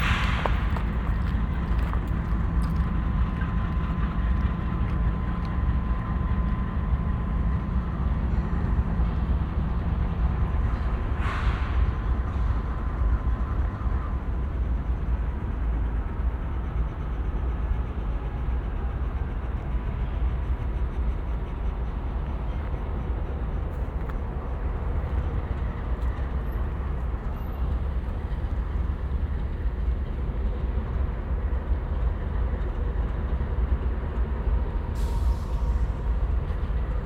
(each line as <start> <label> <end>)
0.0 Train Tracks 37.0